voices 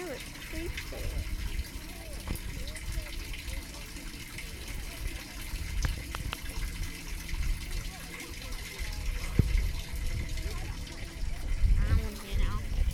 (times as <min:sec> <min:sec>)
0:07.6 0:12.9